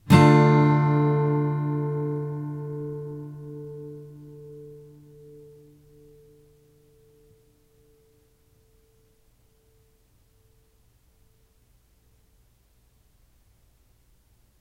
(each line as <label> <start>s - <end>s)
Chords strummed with a metal pick 0.0s - 9.7s